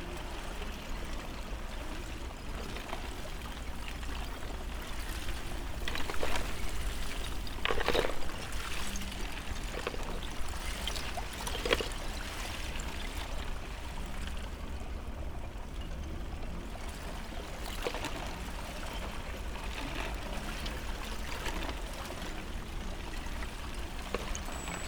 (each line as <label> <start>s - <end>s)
floating ice edge 2.8s - 12.2s
floating ice edge 23.6s - 24.8s